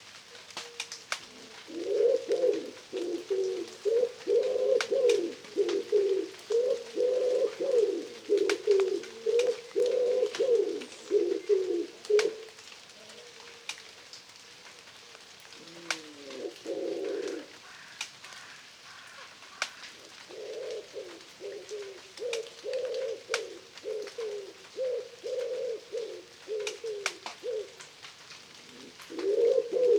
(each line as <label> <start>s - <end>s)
light rainfall 0.0s - 29.9s
Wood pigeon calling 0.4s - 12.5s
flight call of a collared dove 0.5s - 12.4s
Wood pigeon calling 15.6s - 27.9s
carrion crow 17.3s - 20.0s
Wood pigeon calling 28.6s - 29.9s
flight call of a collared dove 28.7s - 29.9s